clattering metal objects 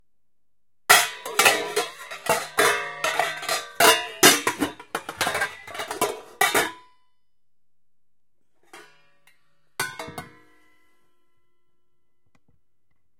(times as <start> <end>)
0.9 6.8, 9.8 10.4